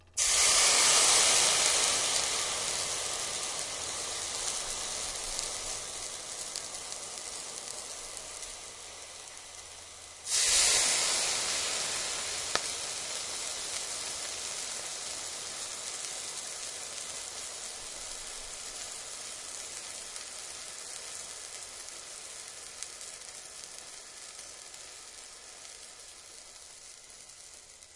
water fizzled and quickly vaporized/evaporated 0.1 - 27.9
poured water onto it 0.2 - 2.7
poured water onto it 10.2 - 12.8

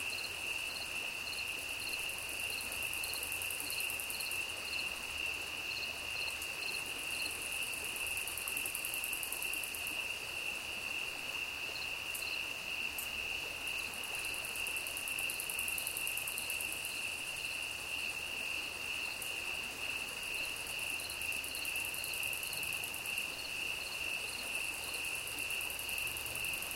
flowing stream 0.0 - 26.7
Clicking Crickets 0.0 - 26.7

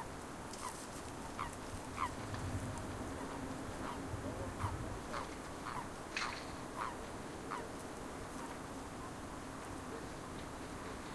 Frogs 0.5 - 2.3
Frogs 3.1 - 7.8

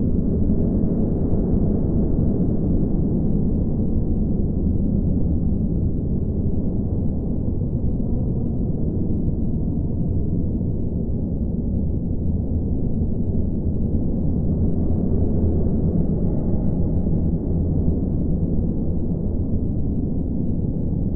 Synthetic stereo slightly horrific wind ambiance 0.0 - 21.1

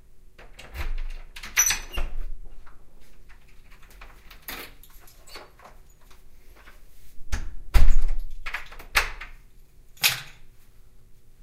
closing the door 0.4 - 2.3
unlocking the front door 0.4 - 2.2
closing the door 7.3 - 9.4

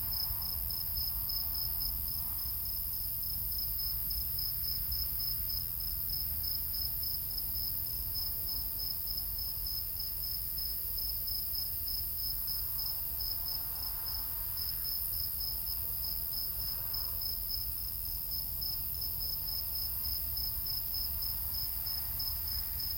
crickets 0.0 - 22.9
other insects 0.0 - 22.9

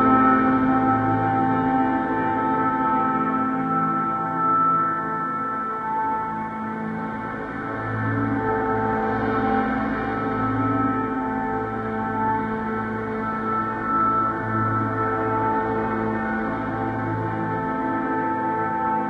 bass 0.0 - 19.0
piano 0.0 - 19.0

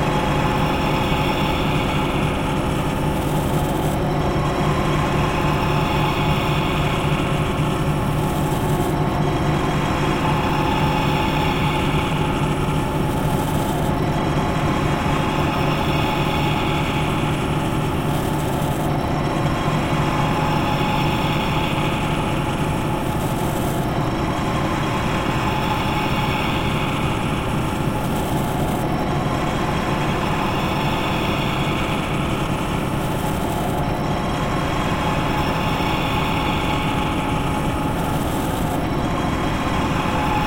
synthetic sound of factory machine 0.0 - 40.4

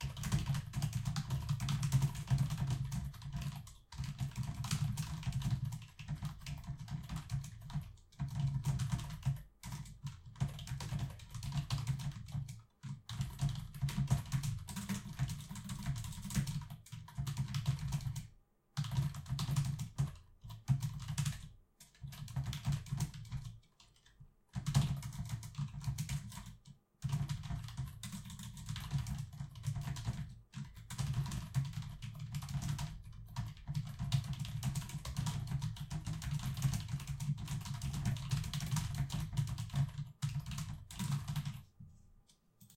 Keyboard Typing (Fast) 0.0 - 41.6

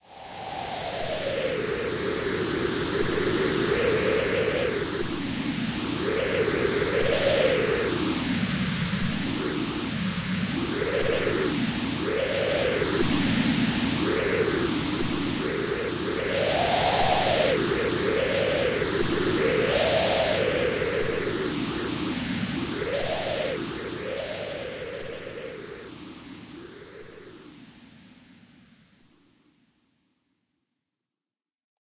Wind 0.0 - 28.9

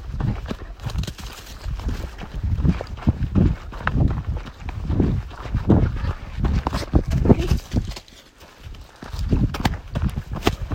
shoes on the dust and rocks 0.0 - 10.7

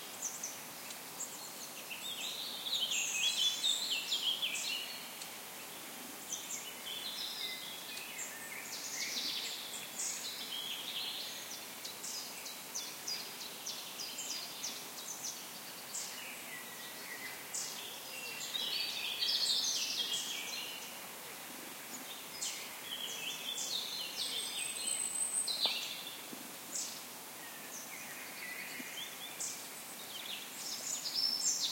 Forest birds singing 0.0 - 31.7

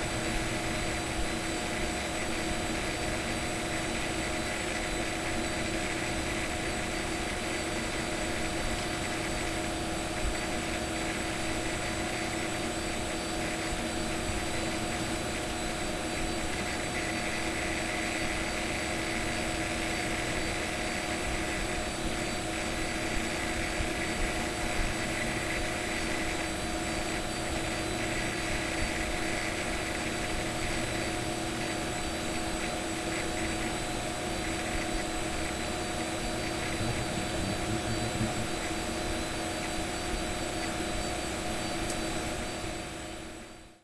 hard drives 35.5 - 40.8
fans 36.0 - 42.8

